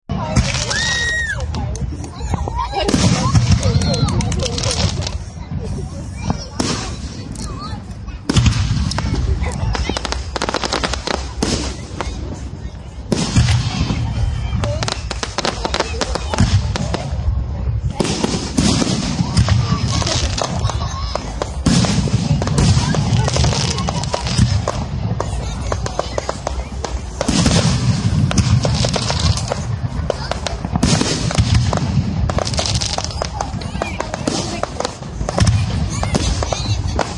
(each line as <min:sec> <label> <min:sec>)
0:00.1 crowd 0:37.1
0:00.1 fireworks 0:37.1